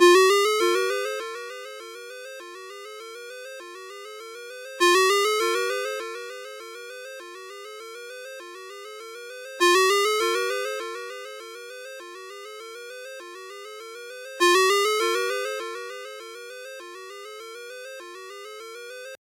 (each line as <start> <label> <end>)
0.0 ringtone 19.2